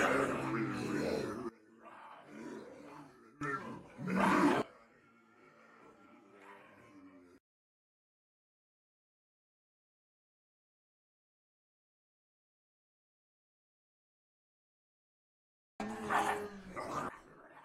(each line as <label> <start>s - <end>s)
people pretending to be zombies 0.0s - 7.4s